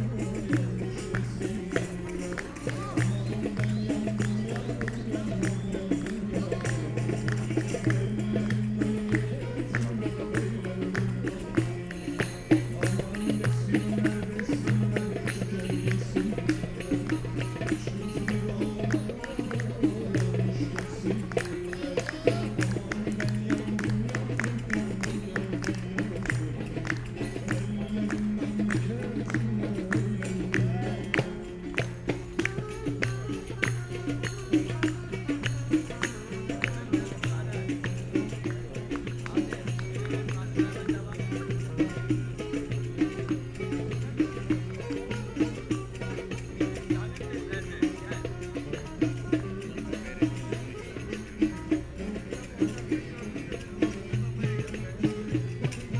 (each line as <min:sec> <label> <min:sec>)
0:00.0 musicians gathering 0:55.9